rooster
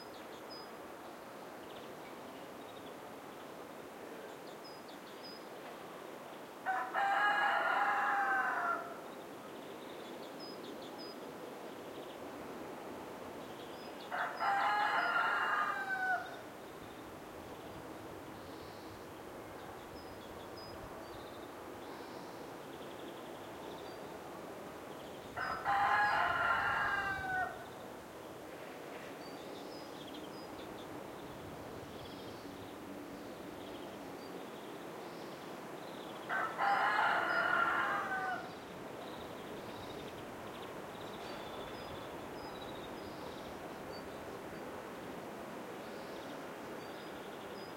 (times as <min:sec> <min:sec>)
0:06.6 0:09.0, 0:14.1 0:16.4, 0:25.4 0:27.7, 0:36.3 0:38.6